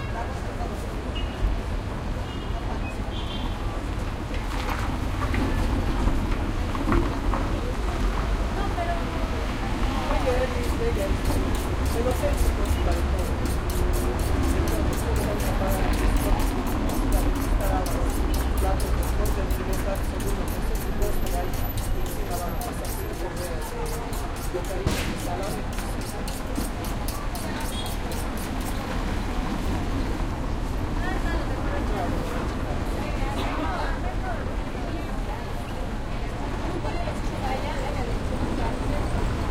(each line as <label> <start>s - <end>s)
traffic 0.0s - 39.5s
people activity 2.2s - 39.5s
knife sharpening 10.7s - 24.8s
knife sharpening 25.5s - 28.8s